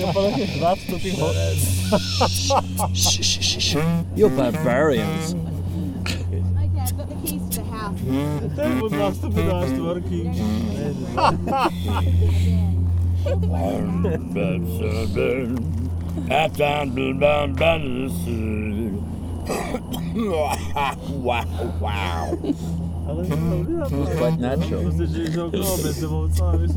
Crickets 0:00.0 - 0:07.7
voices of my friends 0:00.0 - 0:26.7

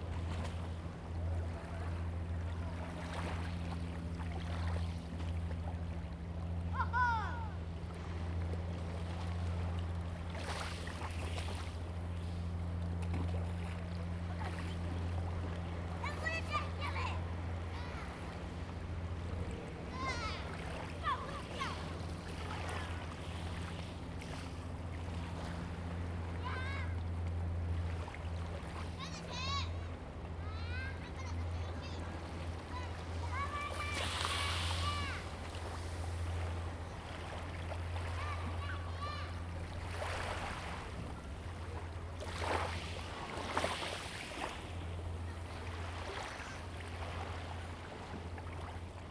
wave 0:00.6 - 0:08.1
wave 0:10.8 - 0:49.0

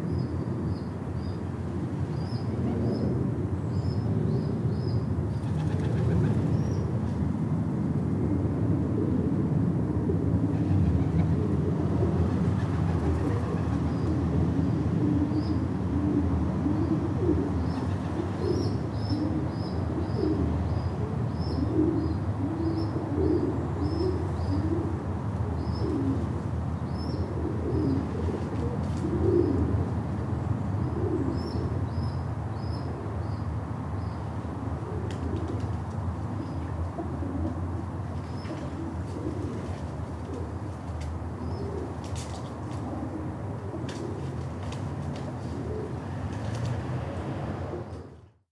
traffic rumble 0:00.0 - 0:48.5
fluttering and cooing of the adults 0:10.9 - 0:13.9
fluttering and cooing of the adults 0:38.2 - 0:46.7

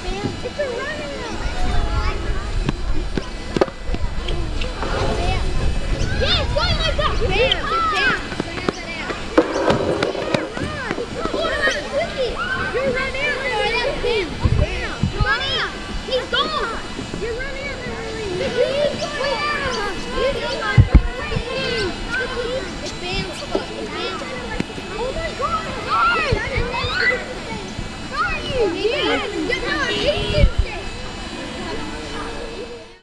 woodchip factory is whirring away in the distance 0:00.0 - 0:33.0
cricket game 0:08.4 - 0:11.6

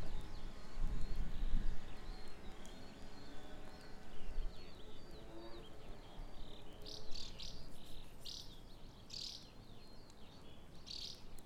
birds chirping 0:00.0 - 0:11.4

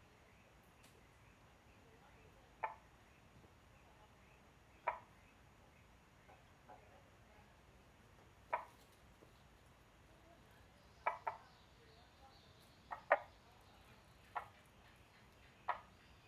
Frogs chirping 0:04.7 - 0:05.4
Frogs chirping 0:10.6 - 0:16.2

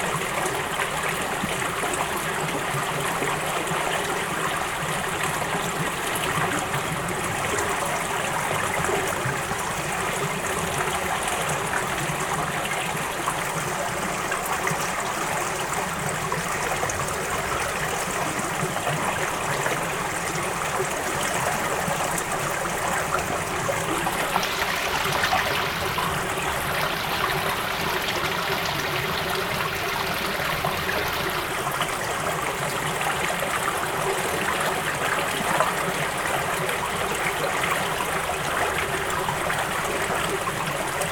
small stream 0:00.0 - 0:41.1

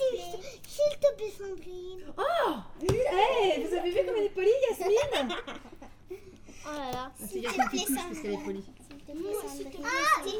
Chidren play, joke, and discuss with the employees 0:00.0 - 0:10.3

